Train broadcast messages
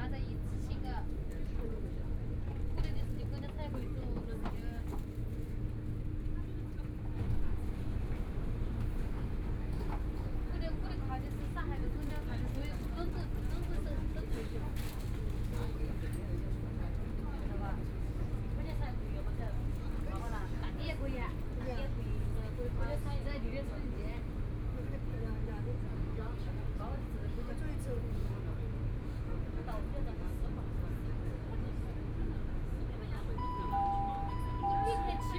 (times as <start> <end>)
33.4 35.3